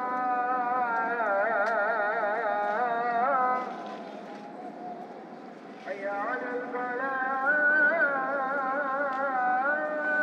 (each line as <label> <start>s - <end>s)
Muezzin call to prayer 0.0s - 10.2s